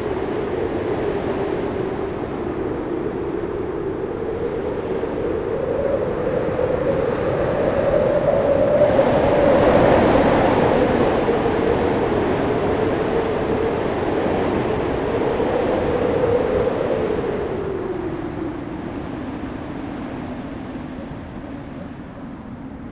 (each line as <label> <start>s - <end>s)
very strong wind in the electric lines 0.0s - 22.9s